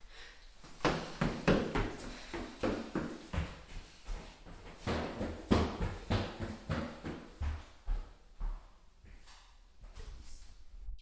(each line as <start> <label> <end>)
0.0 breathing 6.6
0.5 Girl running up stairs 10.9